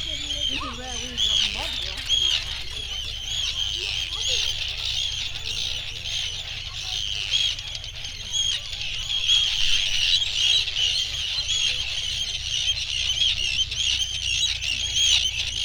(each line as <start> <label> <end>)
0.0 arctic tern colony 15.6
0.0 background noise from people 15.6
0.0 boats 15.6
0.0 planes 15.6